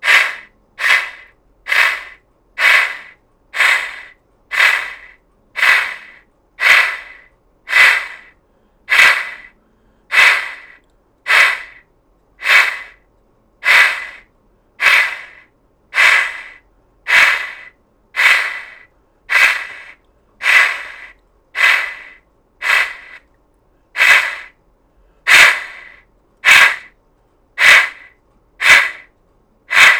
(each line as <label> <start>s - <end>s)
Steam chuffs 0.0s - 8.3s
Steam chuffs 8.9s - 9.5s
Steam chuffs 10.1s - 11.8s
Steam chuffs 12.4s - 13.0s
Steam chuffs 13.6s - 14.2s
Steam chuffs 14.8s - 15.4s
Steam chuffs 16.0s - 23.2s
Steam chuffs 24.0s - 24.5s
Steam chuffs 25.3s - 26.9s
Steam chuffs 27.6s - 29.1s
Steam chuffs 29.7s - 29.9s